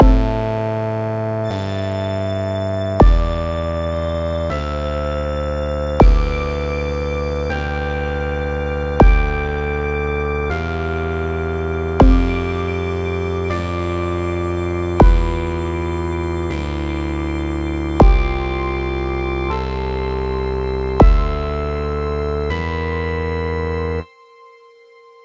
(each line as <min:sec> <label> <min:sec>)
0:00.0 piano 0:25.2